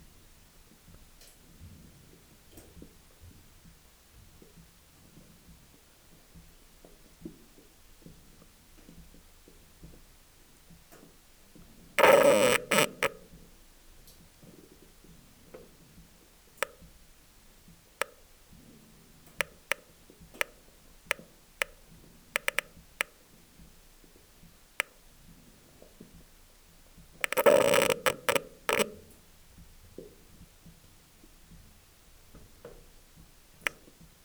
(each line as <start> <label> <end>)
12.0 water inside the drilling 13.2
22.4 water inside the drilling 23.1
27.0 water inside the drilling 29.2